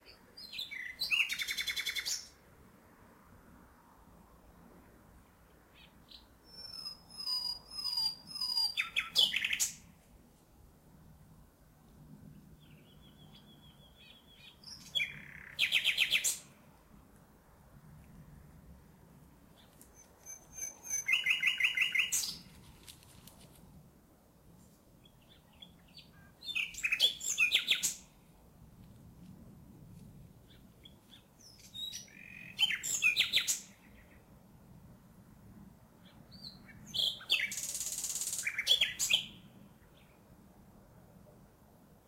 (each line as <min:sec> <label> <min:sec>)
0:00.0 nightingale 0:02.4
0:05.2 nightingale 0:10.0
0:12.2 nightingale 0:16.7
0:19.5 nightingale 0:23.6
0:25.0 nightingale 0:28.2
0:30.4 nightingale 0:34.4
0:36.0 nightingale 0:40.2